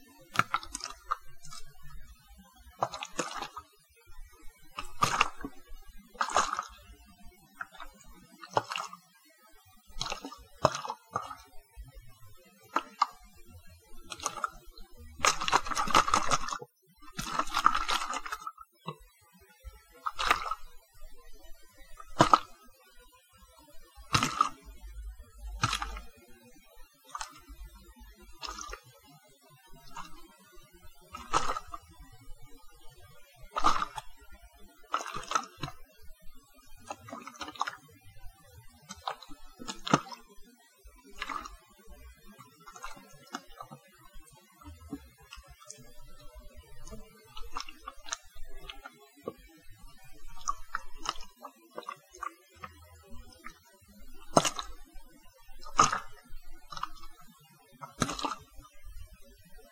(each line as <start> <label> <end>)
0.3 splashes splats 2.0
2.8 splashes splats 3.7
4.8 splashes splats 6.8
7.6 splashes splats 9.0
9.9 splashes splats 11.5
12.7 splashes splats 13.3
14.1 splashes splats 16.6
17.2 splashes splats 18.6
20.0 splashes splats 20.7
22.0 splashes splats 22.6
24.1 splashes splats 24.7
25.6 splashes splats 26.2
27.1 splashes splats 27.5
28.4 splashes splats 28.8
29.8 splashes splats 30.2
31.1 splashes splats 31.8
33.5 splashes splats 34.2
34.9 splashes splats 35.9
36.8 splashes splats 37.8
38.9 splashes splats 40.3
41.1 splashes splats 41.6
42.4 splashes splats 43.8
46.8 splashes splats 48.9
50.2 splashes splats 52.2
54.2 splashes splats 54.9
55.6 splashes splats 57.2
57.8 splashes splats 58.5